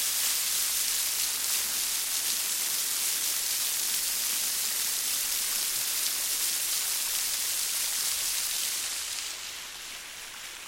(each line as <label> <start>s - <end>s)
rain 0.0s - 10.6s
waterfall 0.0s - 10.6s